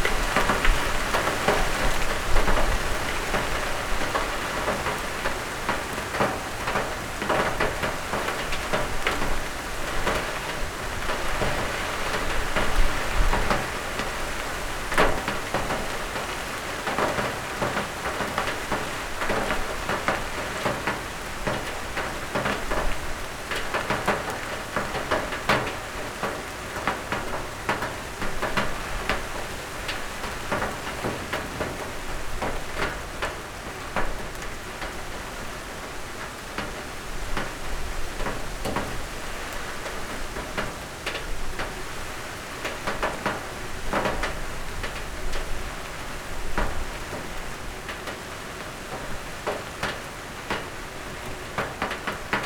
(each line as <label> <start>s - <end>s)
Heavy summer rain 0.0s - 52.4s